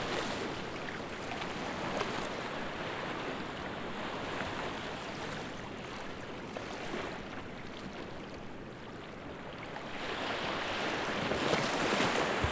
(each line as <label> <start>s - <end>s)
Ocean 0.0s - 12.5s